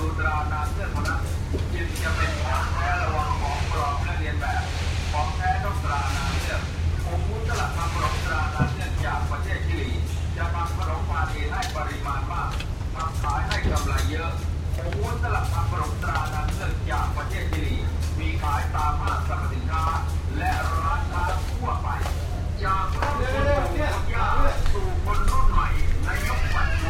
FM radio is also playing some advertisement 0.0 - 26.8
home construction site 0.0 - 26.8

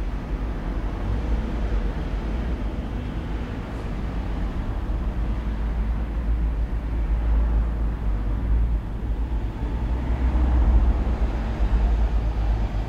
traffic 0.0 - 12.8

